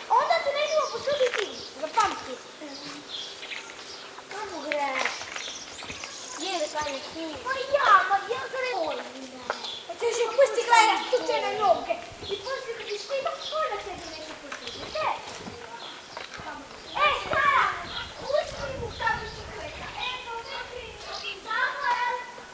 children playing 0.0 - 22.5
dogs kept in cages near the church bell tower start barking 5.4 - 11.9
dogs kept in cages near the church bell tower start barking 20.1 - 22.5

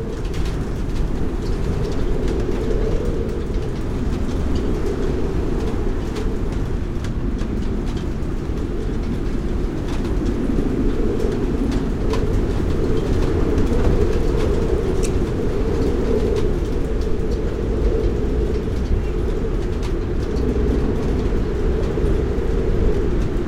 Strong wind 0.0 - 23.4

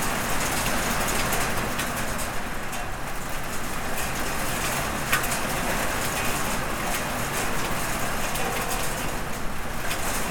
hail stones striking an iron roof with metal flues 0.0 - 10.3

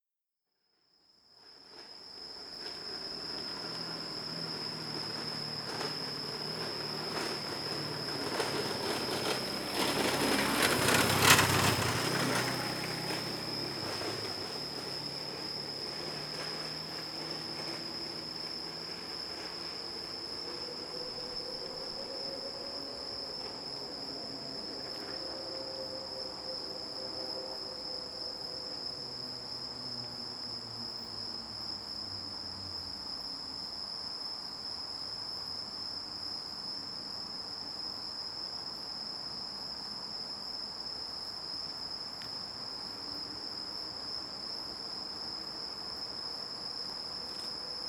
automobile passing by 2.4 - 32.9

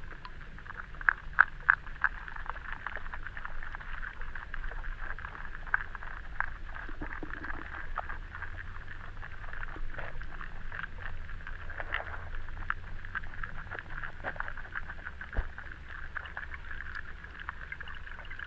river Venta underwater 0.0 - 18.4

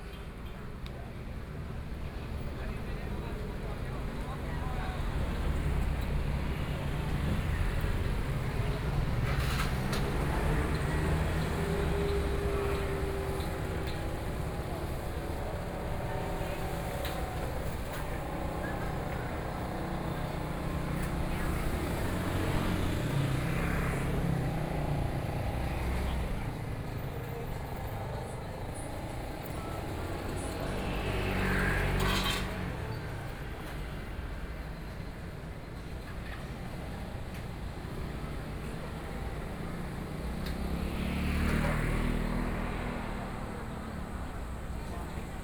Traffic Noise 0.0 - 45.4

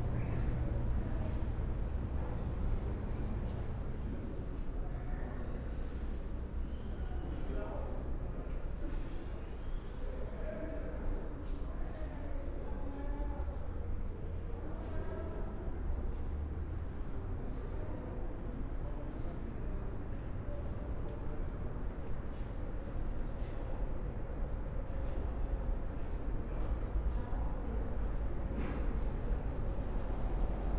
people 0.0 - 4.2
trains 0.0 - 4.9
trains 25.6 - 30.7

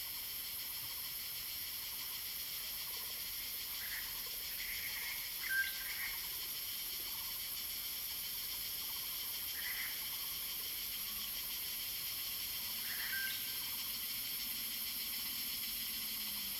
Cicadas cry 0.0 - 16.5

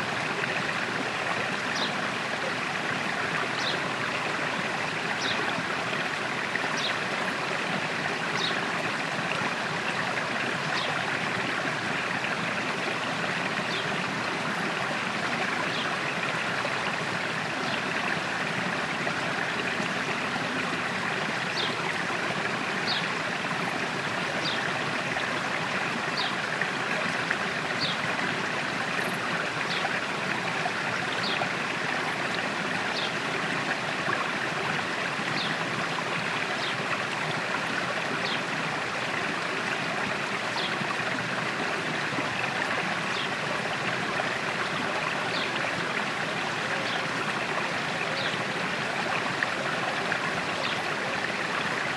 Small river 0.0 - 51.9
birds 3.6 - 3.8
birds 15.6 - 16.0
birds 22.8 - 23.8
birds 26.2 - 26.4
birds 31.1 - 31.4

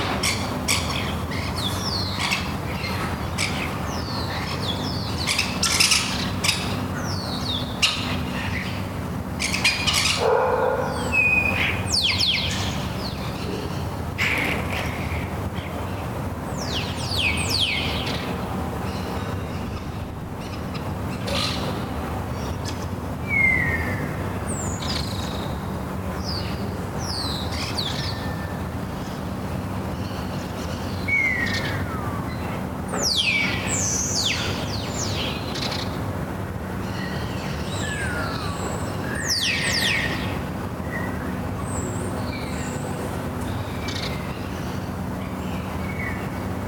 Morning birds 0.0 - 46.6
dog 10.2 - 11.0

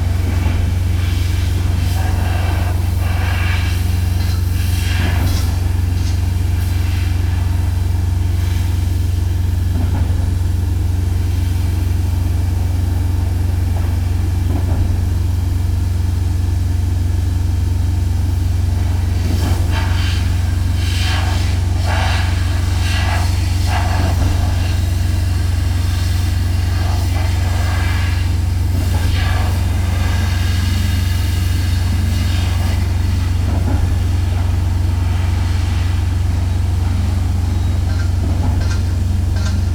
generators 28.2 - 39.7

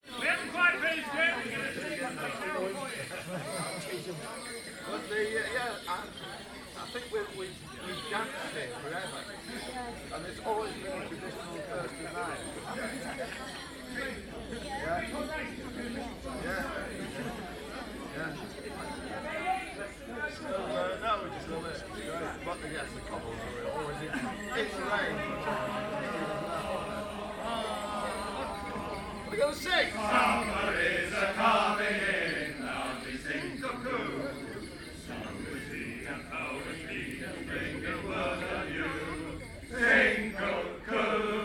singing 21.7 - 41.4

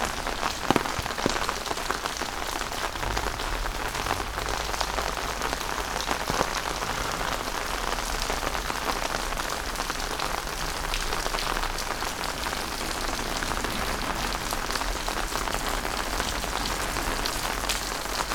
rain 0.0 - 18.3

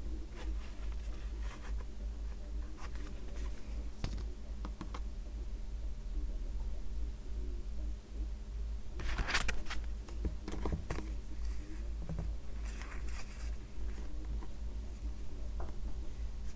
assembling shade cards 9.0 - 14.6

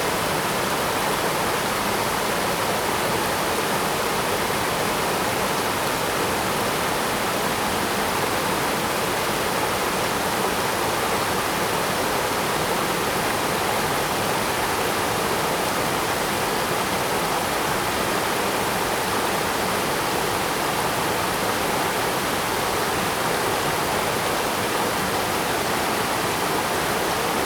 Waterfalls and rivers 0.0 - 27.4

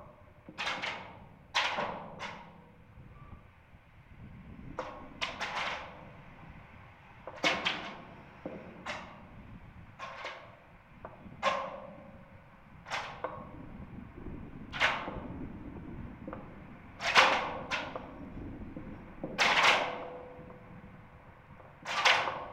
Clanging wires inside a lamp post 10.0 - 10.6

